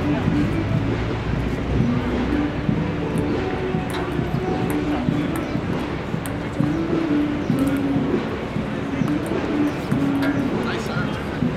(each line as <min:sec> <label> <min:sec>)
0:01.4 ping pong match 0:11.5